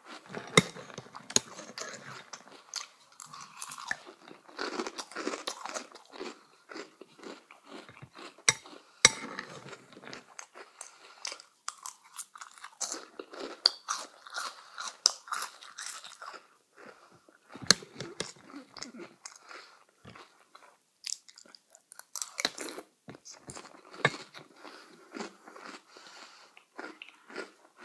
eating cereal 0.0 - 27.8

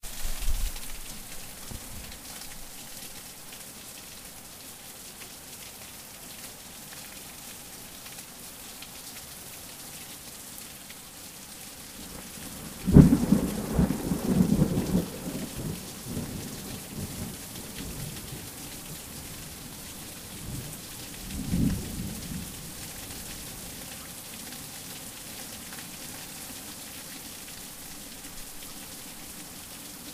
Heavy Rain 0.0 - 30.1
thunder 12.8 - 15.6

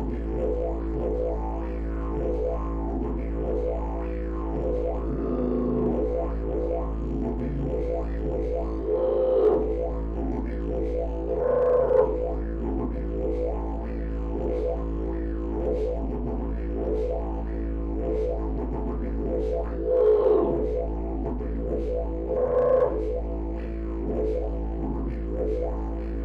didgeridoo playing the note A 0.0 - 26.2

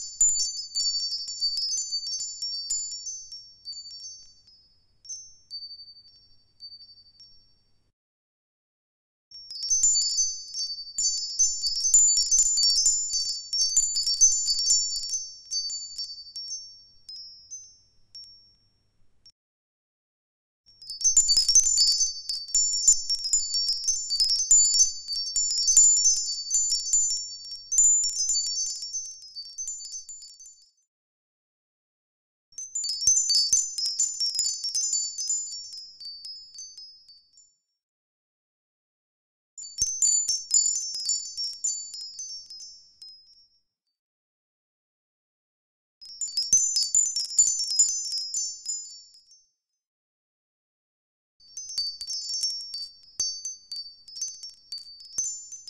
moving a little windchimes 0.0 - 7.8
moving a little windchimes 9.4 - 19.1
moving a little windchimes 20.8 - 30.9
moving a little windchimes 32.6 - 37.7
moving a little windchimes 39.6 - 43.7
moving a little windchimes 46.0 - 49.6
moving a little windchimes 51.5 - 55.6

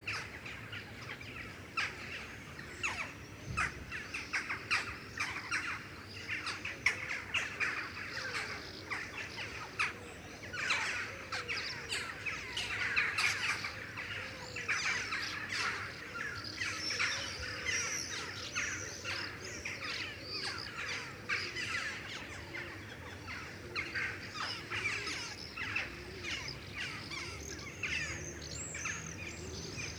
pigeons 2.8 - 29.9

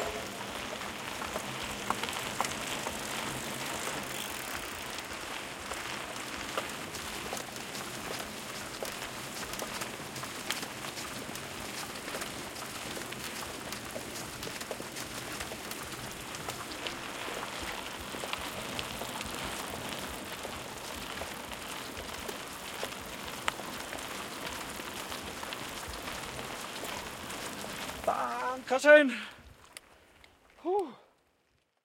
4 Bikes upwards 0.0 - 8.8

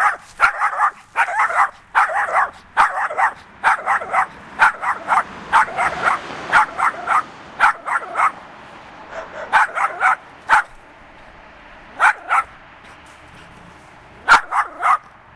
Noisy dog 0.0 - 8.4
Noisy dog 9.1 - 10.8
Noisy dog 11.9 - 15.2

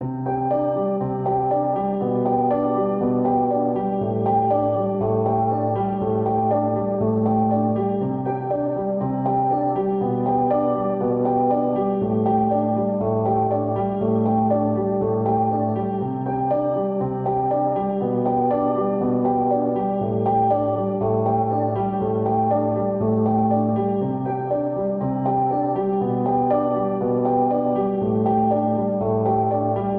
piano 0.0 - 29.9

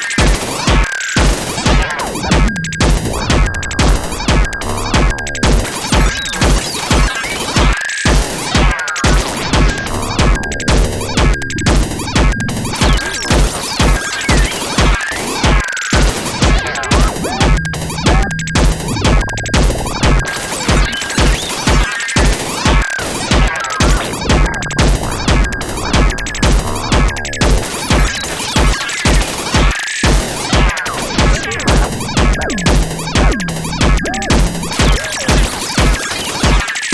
drum 0.0 - 36.9
synthesizer 0.0 - 36.9

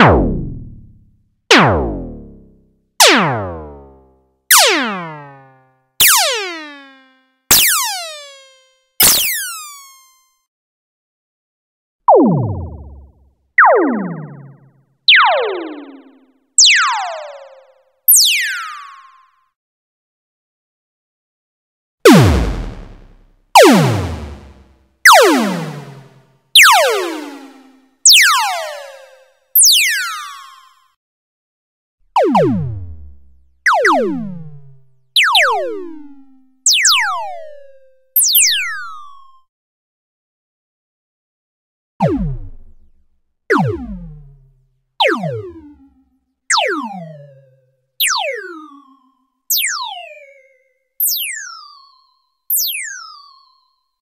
laser 4.6 - 10.2

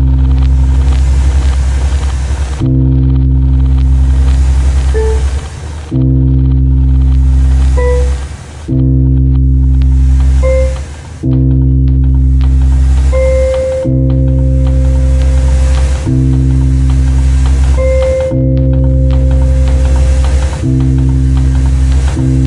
Music 0.0 - 22.4

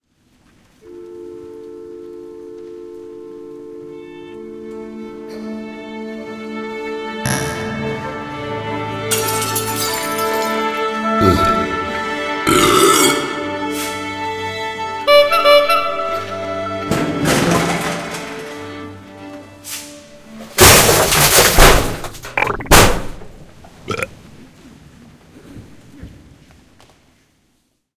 boing 7.3 - 8.2
belch 7.3 - 8.5
belch 11.2 - 11.9
belch 12.5 - 13.7
belch 22.3 - 23.0
belch 23.9 - 24.2

